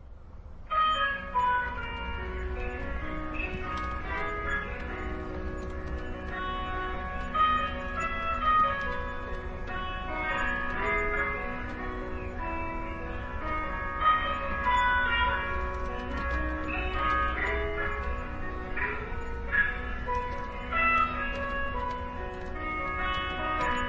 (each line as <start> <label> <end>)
0.8 radio music 23.8